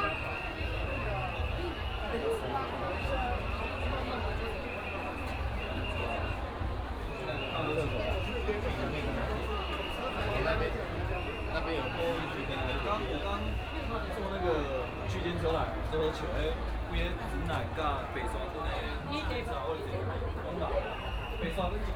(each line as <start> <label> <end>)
0.0 Crowded crowd 21.9
0.0 Walk in the alley 21.9